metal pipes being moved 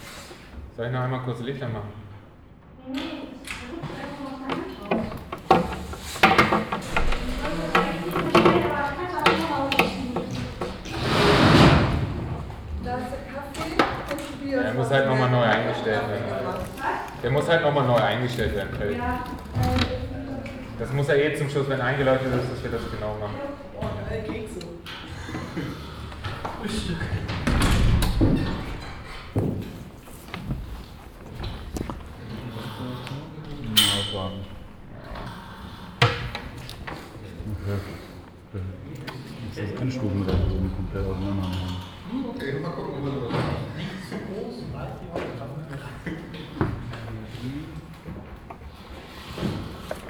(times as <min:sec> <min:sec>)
0:33.8 0:34.6